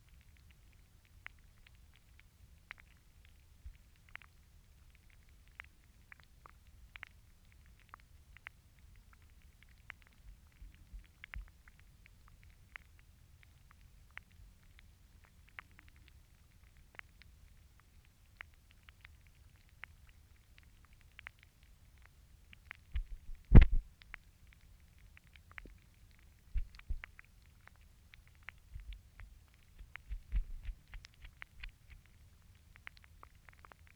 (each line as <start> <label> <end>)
0.0 single stem plant growing in the water 33.9